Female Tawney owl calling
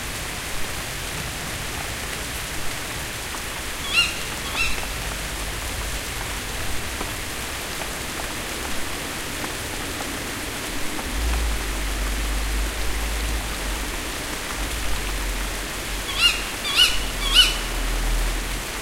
3.8s 4.9s, 16.0s 17.8s

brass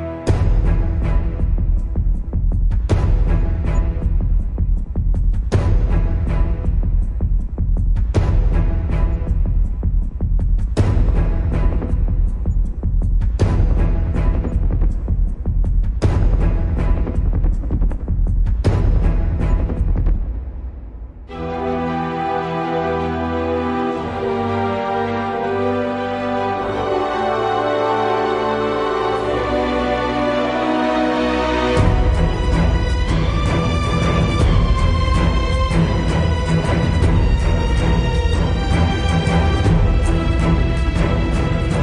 21.3s 41.8s

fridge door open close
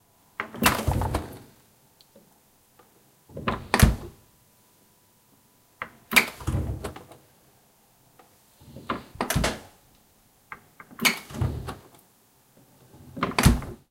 0.5s 1.5s, 3.3s 4.2s, 8.7s 9.7s, 11.0s 11.9s, 13.0s 13.8s

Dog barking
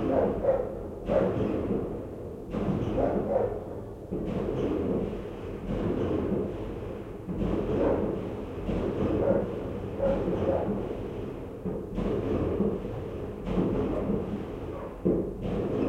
0.1s 1.4s, 3.0s 3.6s, 9.2s 10.3s

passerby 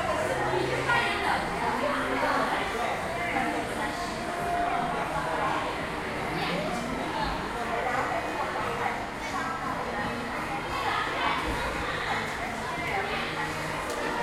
0.0s 9.9s

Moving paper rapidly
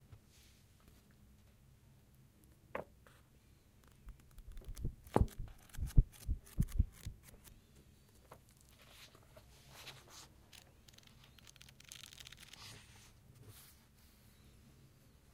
4.2s 7.6s, 9.8s 13.0s

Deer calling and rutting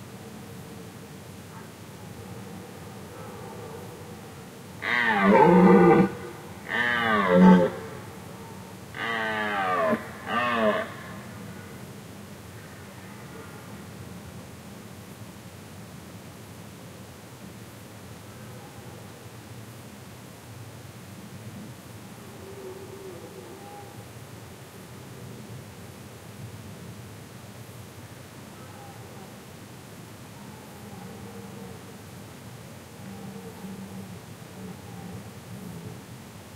4.8s 8.3s, 8.9s 11.6s

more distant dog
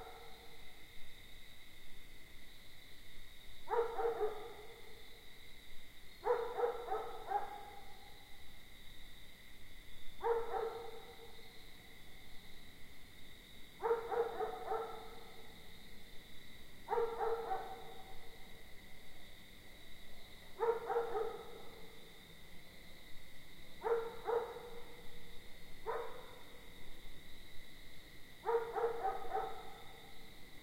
0.0s 0.6s, 3.7s 5.1s, 6.2s 8.2s, 10.2s 11.5s, 13.8s 15.6s, 16.8s 18.5s, 20.3s 22.2s, 23.8s 26.7s, 28.4s 30.3s

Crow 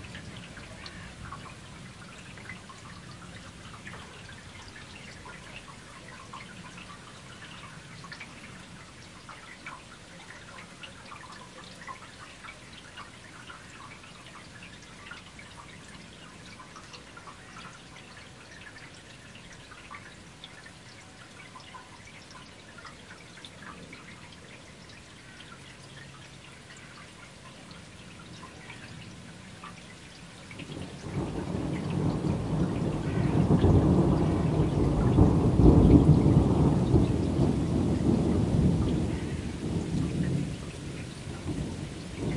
33.0s 33.5s

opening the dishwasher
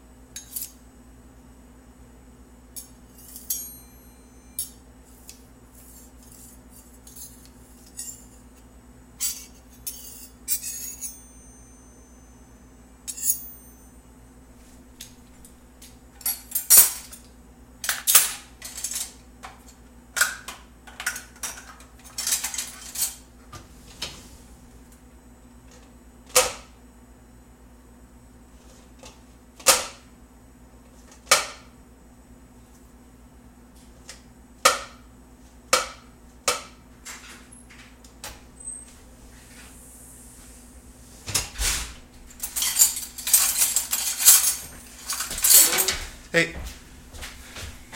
41.2s 42.0s, 42.8s 46.1s

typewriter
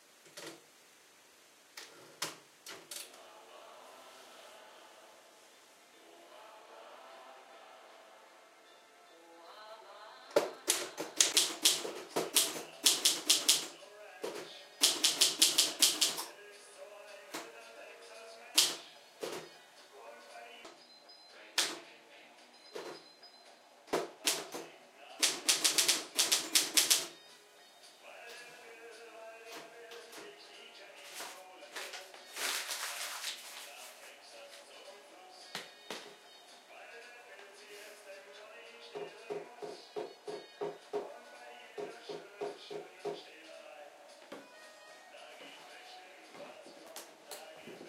10.7s 13.7s, 14.3s 16.3s, 18.6s 19.4s, 24.0s 27.2s

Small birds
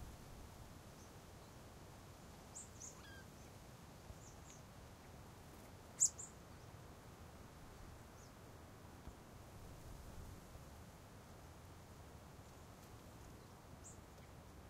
2.5s 6.8s, 8.1s 8.4s, 12.4s 14.6s

